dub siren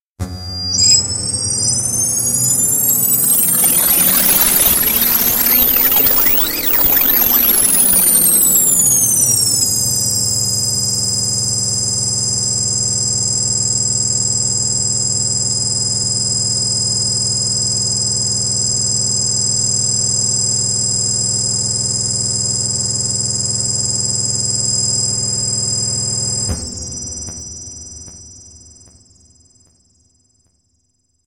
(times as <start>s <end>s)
0.2s 10.6s